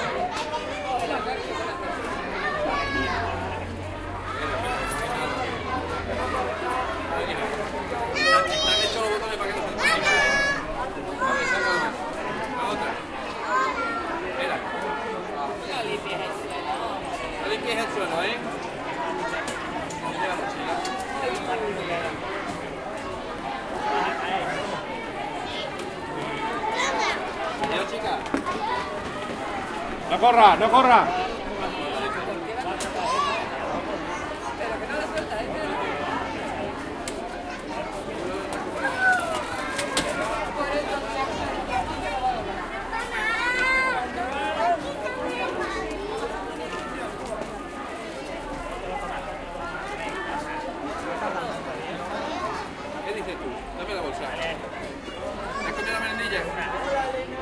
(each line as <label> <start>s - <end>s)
Parents waiting their kids in the door of the school, talking 0.0s - 57.4s
children talking and laughing 0.0s - 57.4s